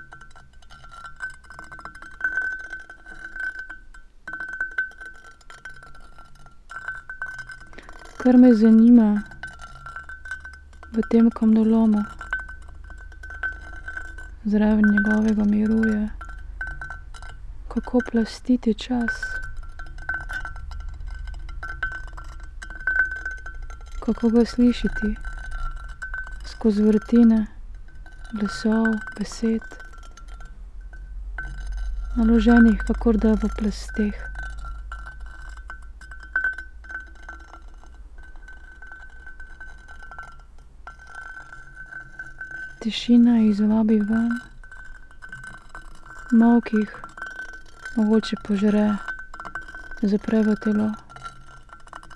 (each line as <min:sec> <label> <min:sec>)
0:00.0 stone and iron 0:52.1